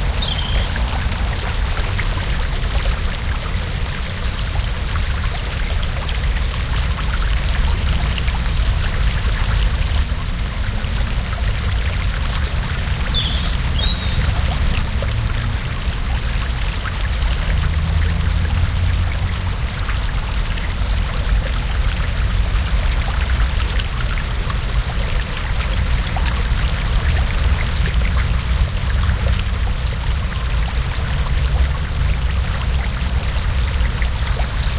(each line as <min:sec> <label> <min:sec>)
0:00.0 Waterfall 0:34.7